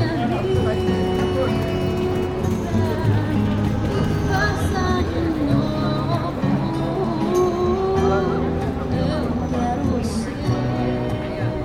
people stopped to talk to the musician 0:00.0 - 0:11.6
tunes from stores 0:00.0 - 0:11.6

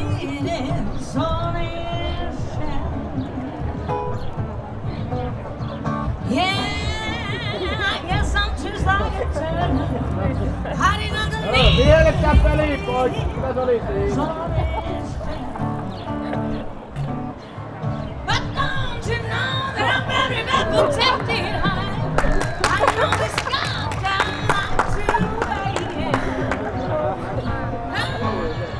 sings 0:00.0 - 0:28.7
applauding him 0:07.0 - 0:17.1
People heckling 0:08.9 - 0:16.7
People heckling 0:19.3 - 0:28.7
applauding him 0:19.7 - 0:28.7

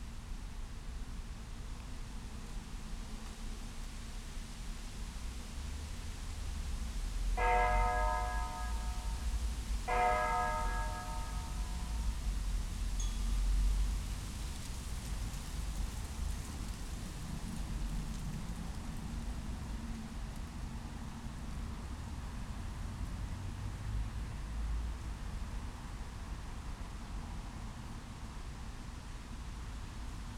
clock of Casa del Reloj 0:09.9 - 0:11.5

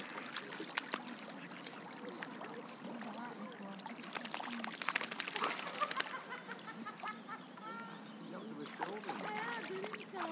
dog enjoying the water 0:00.0 - 0:10.3

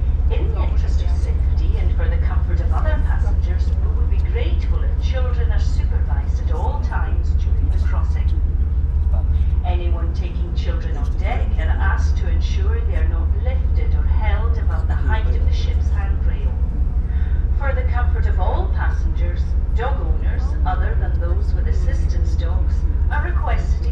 Safety announcements in English and Gaelic 0:00.0 - 0:08.6
background chatter 0:00.0 - 0:16.9
Safety announcements in English and Gaelic 0:09.2 - 0:16.6
Safety announcements in English and Gaelic 0:17.2 - 0:23.9

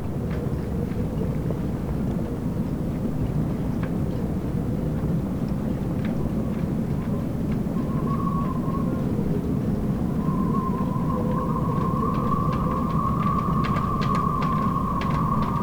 wind blows through sailboat masts and riggings 0:00.0 - 0:15.6

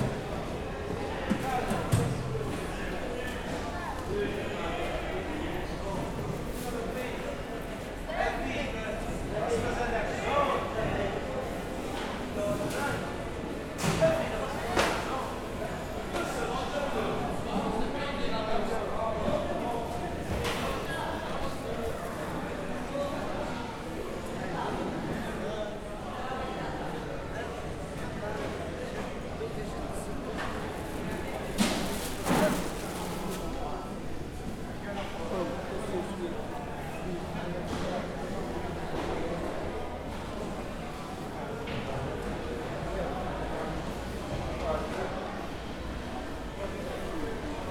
people 0:00.0 - 0:47.7

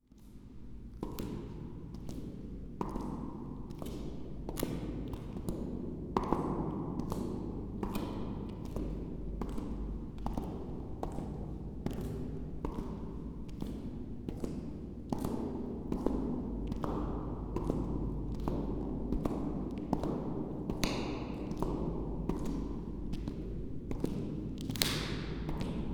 walking echo, slow 0:00.2 - 0:25.9

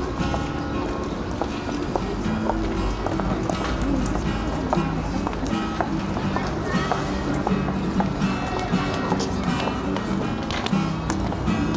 A BOY PLAING GUITAR 0:00.0 - 0:11.7

